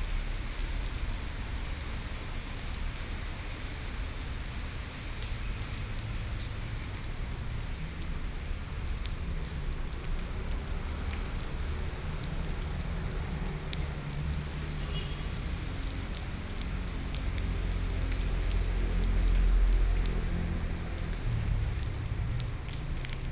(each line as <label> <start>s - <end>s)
Rainy Day 0.0s - 23.3s
traffic soundst 6.8s - 23.3s